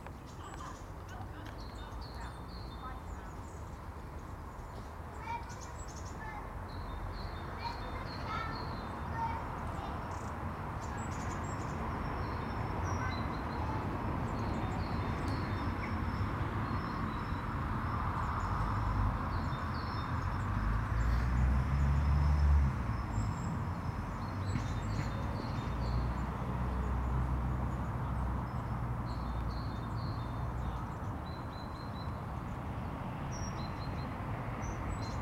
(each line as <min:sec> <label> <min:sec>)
0:00.0 Birdsong comes and goes 0:35.2